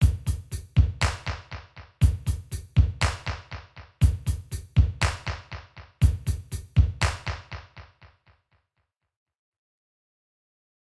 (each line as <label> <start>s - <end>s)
drums accompaniment 0.0s - 7.9s